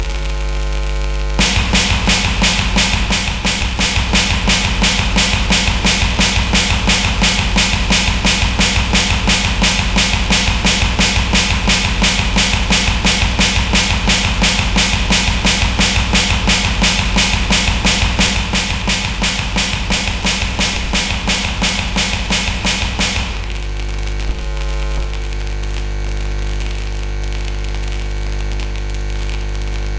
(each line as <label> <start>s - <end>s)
Snare Drum 1.4s - 23.7s
Bass Drum 1.4s - 25.4s